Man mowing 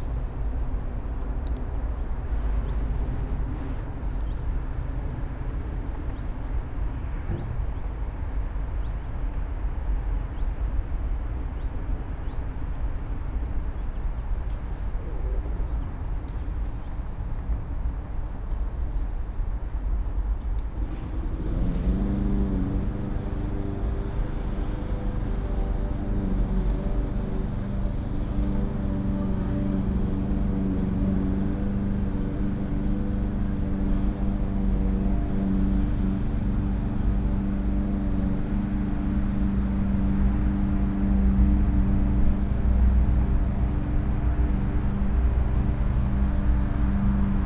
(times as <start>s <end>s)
20.8s 47.4s